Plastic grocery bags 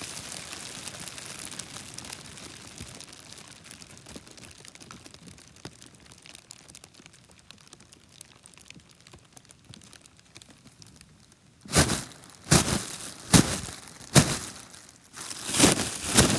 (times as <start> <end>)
11.6 16.3